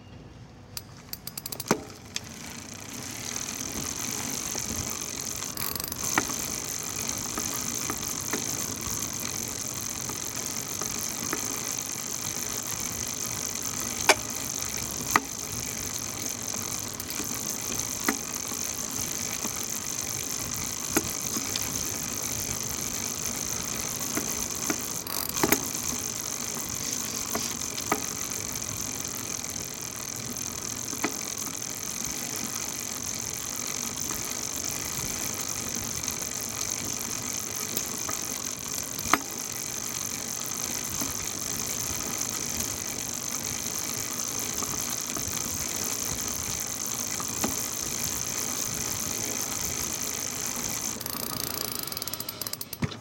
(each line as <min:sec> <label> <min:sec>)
0:00.8 bicycle chain 0:53.0